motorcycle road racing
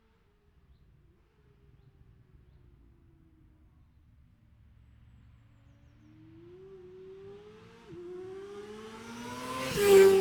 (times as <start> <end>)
6.5 10.2